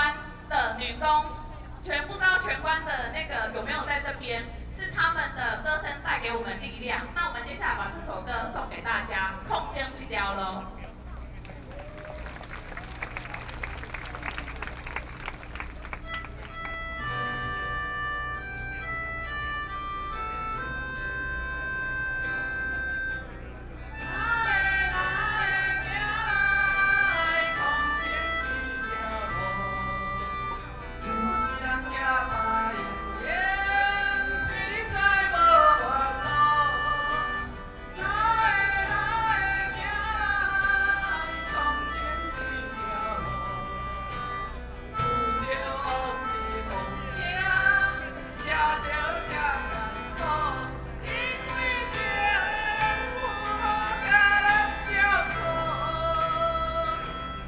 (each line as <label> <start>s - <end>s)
Protest 10.8s - 17.3s